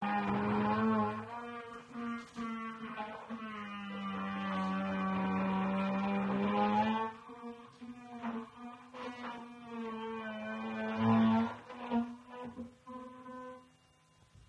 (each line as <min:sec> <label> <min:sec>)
0:00.0 drilling 0:13.9